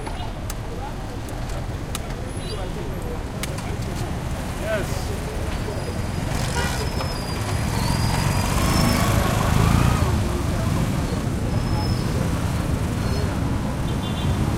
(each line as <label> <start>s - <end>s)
motorcycles 0.0s - 14.5s
people 0.0s - 14.5s
throaty cars 0.0s - 14.5s
mopeds 3.4s - 14.5s